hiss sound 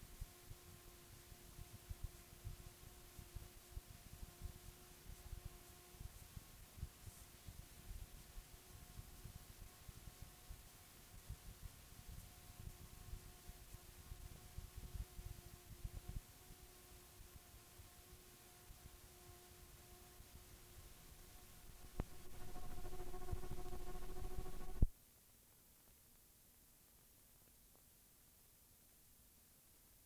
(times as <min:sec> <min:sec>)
0:00.0 0:15.0, 0:20.2 0:24.9